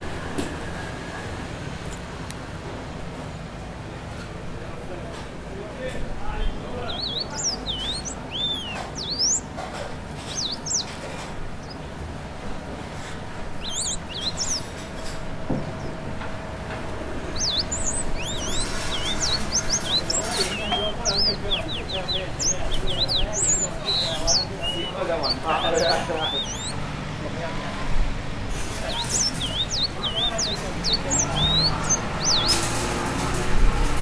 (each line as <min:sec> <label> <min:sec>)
0:03.5 Bird in a jail 0:34.0
0:05.6 old men 0:27.4
0:31.1 truck 0:34.0